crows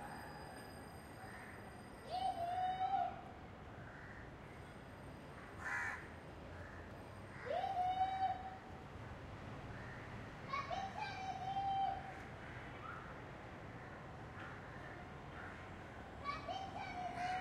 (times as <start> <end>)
3.8 4.3, 5.6 7.5